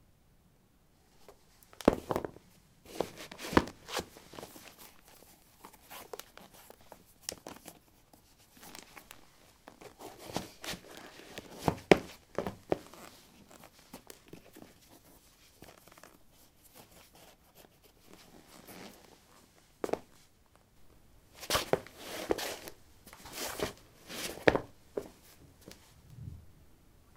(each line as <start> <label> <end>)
1.2 Putting light shoes on/off on linoleum 4.5
8.6 Putting light shoes on/off on linoleum 14.2
21.4 Putting light shoes on/off on linoleum 25.8